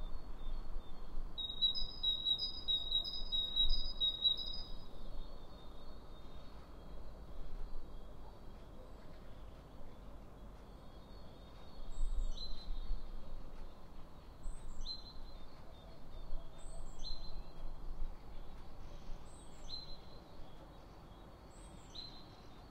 1.4s birds 22.7s

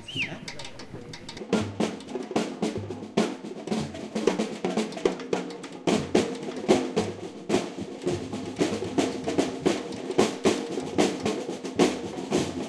0.0s teacher comments 1.5s
0.0s samba drums 12.6s
0.0s voices trying to keep rhythm 12.6s

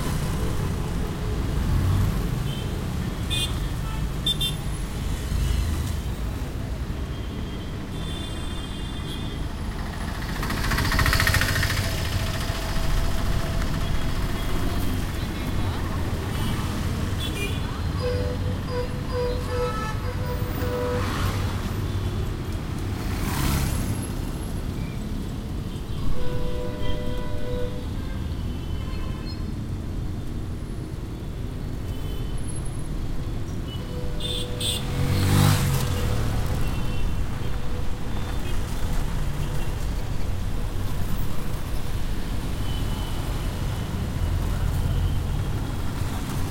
0.0s cars 26.1s
0.0s tuktuks 46.5s
9.2s trucks 17.2s
10.0s mopeds 15.1s
29.5s cars 46.5s

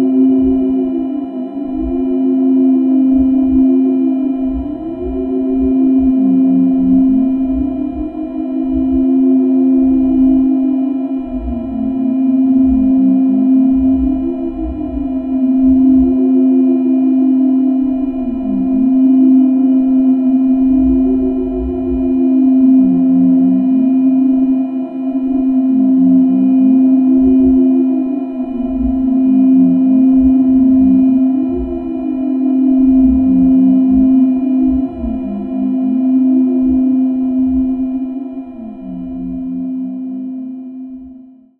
0.0s drone 41.5s

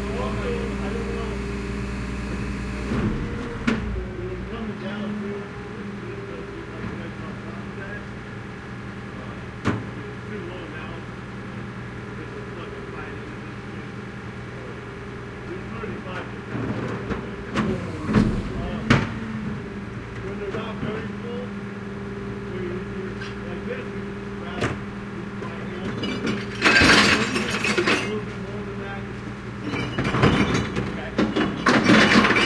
0.0s glass recycling truck arrives 8.0s
0.0s engine 32.4s
14.8s glass recycling truck arrives 21.6s
24.4s glass recycling truck arrives 32.4s
26.0s dumps a lot of glass into the truck 28.2s
29.6s dumps a lot of glass into the truck 32.4s

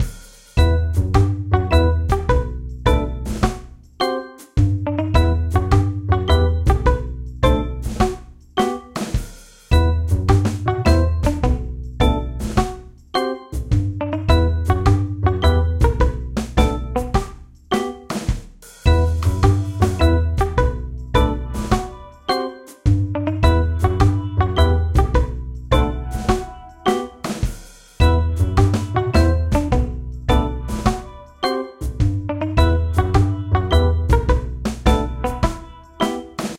0.6s double bass 3.5s
0.6s guitar 9.0s
4.6s double bass 8.1s
9.7s double bass 12.6s
9.7s guitar 18.2s
13.6s double bass 17.2s
18.9s double bass 21.8s
18.9s guitar 36.5s
22.9s double bass 26.5s
23.4s organ 27.4s
28.0s double bass 30.9s
31.8s double bass 35.5s

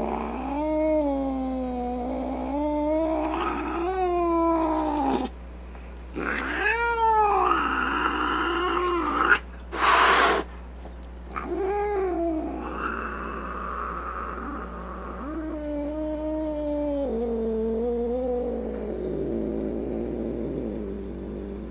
0.0s meow 5.3s
0.0s growling 5.3s
6.1s growling 10.4s
6.2s angry cat sounds 10.5s
6.2s meow 9.4s
9.1s snorts 10.5s
9.7s hissing 10.5s
11.3s angry cat sounds 21.7s
11.4s meow 13.0s
11.4s growling 21.7s

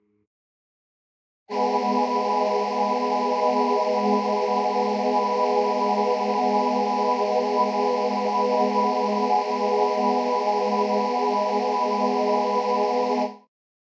1.5s choir 13.5s

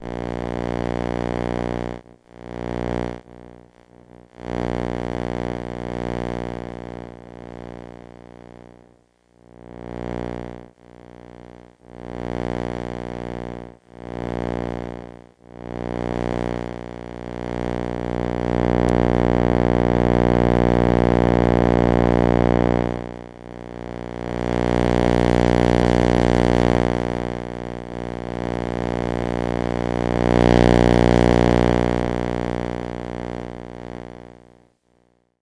0.0s electromagnetic interference 34.6s

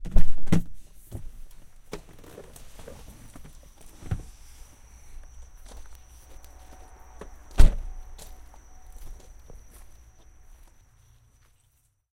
1.1s Crickets 12.0s
7.5s car door 7.9s

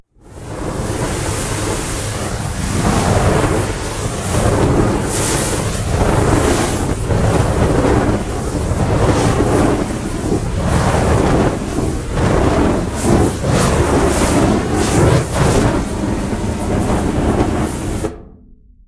0.2s constant spray fire 18.2s

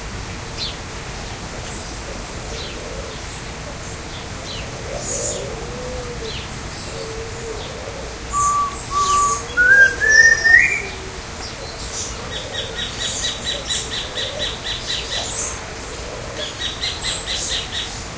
0.0s waterfall 18.1s
1.6s Green Imperial-pigeon 18.1s
1.7s Micronesian Kingfisher 18.1s
2.6s several species of lorikeet 18.1s
4.4s Collared Imperial-pigeon 17.9s
6.2s Song Sparrow 18.0s
7.6s Fawn-breasted Bowerbird 15.9s

